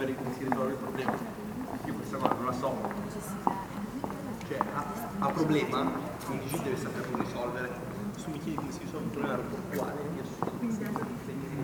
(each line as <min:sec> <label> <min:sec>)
0:00.0 small groups of people passing by 0:11.6